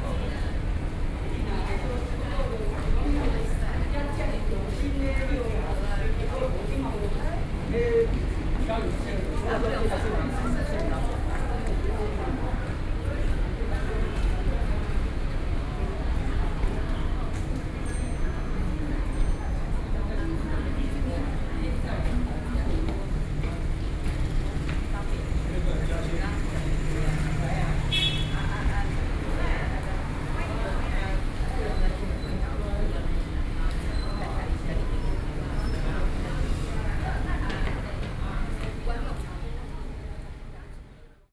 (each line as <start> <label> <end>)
0.0 People waiting and traveling walking 41.3